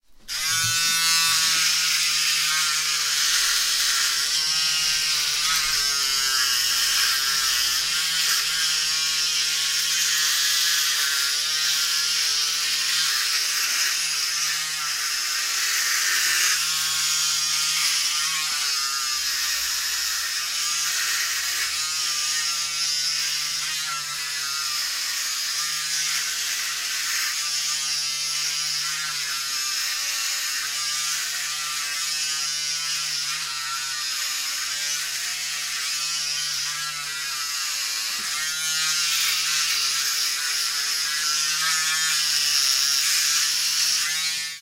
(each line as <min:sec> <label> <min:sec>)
0:00.2 Electric razor shaving a face 0:44.6